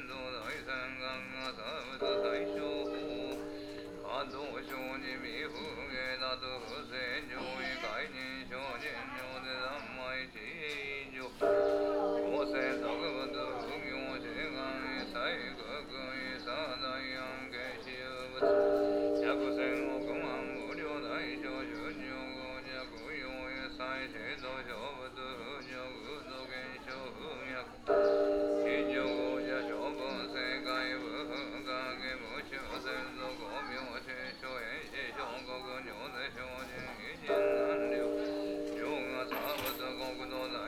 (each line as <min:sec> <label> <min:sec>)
0:00.0 shrine bell 0:10.0
0:10.8 shrine bell 0:40.6
0:10.8 chanting in great unison 0:40.6